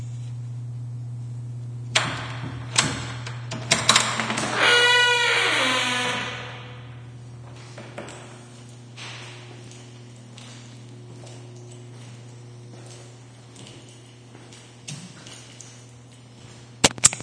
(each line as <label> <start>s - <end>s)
bathroom stall door creak 1.9s - 7.0s
walking 7.1s - 17.0s